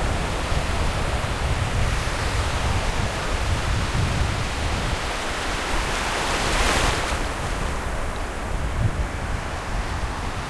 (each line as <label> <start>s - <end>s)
Waves at the beach 0.0s - 10.4s
wind 0.0s - 10.4s